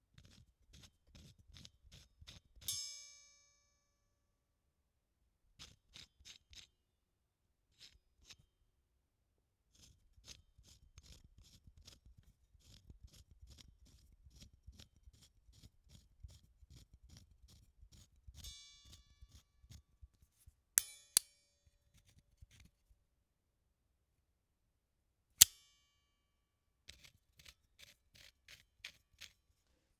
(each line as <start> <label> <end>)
20.8 clang 21.3